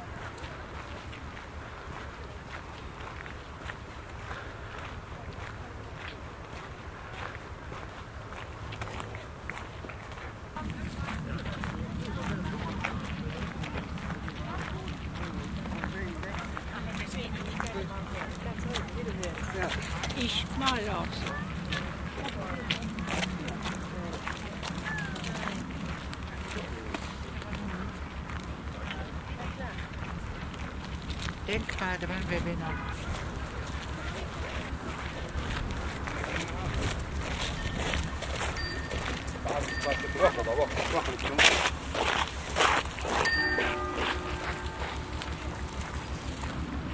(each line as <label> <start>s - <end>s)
konversationen flanierender sonntagsspaziergänger 10.6s - 43.4s